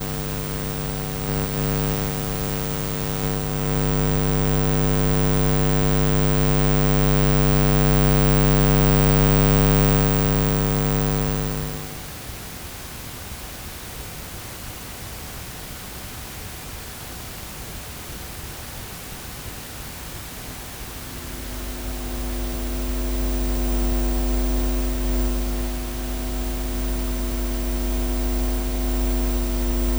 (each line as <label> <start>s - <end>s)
Irregular Electronic Hum 0.0s - 12.1s
Irregular Electronic Hum 20.7s - 29.9s